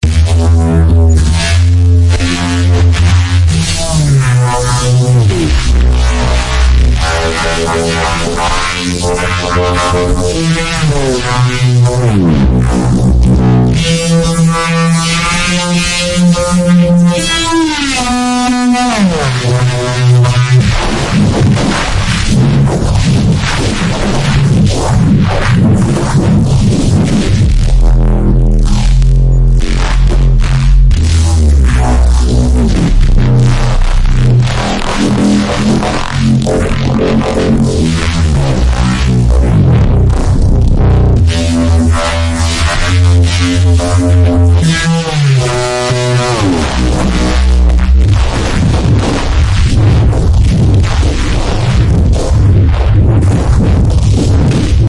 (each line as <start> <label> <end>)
0.0 Contrabass 54.8